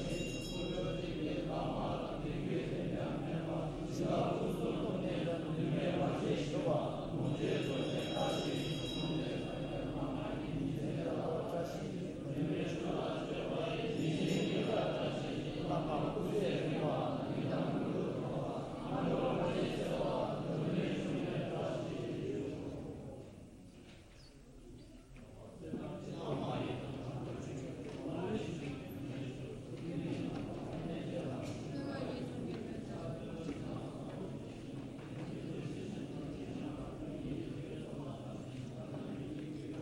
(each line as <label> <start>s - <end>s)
bells 0.0s - 3.8s
Buddhist monks praying, chanting 0.0s - 39.8s
bells 6.2s - 10.7s
bells 11.7s - 17.4s